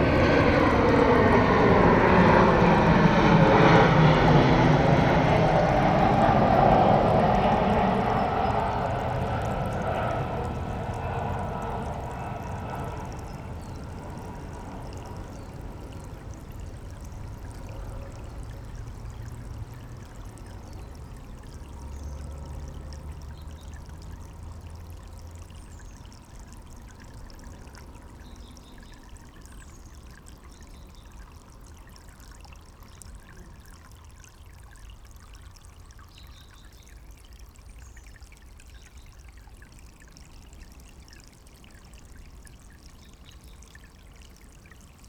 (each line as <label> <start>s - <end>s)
s-bahn 0.0s - 20.6s
river 0.0s - 45.0s